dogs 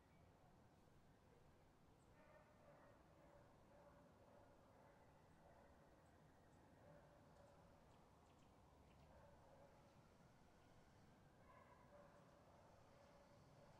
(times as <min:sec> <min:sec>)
0:11.4 0:13.7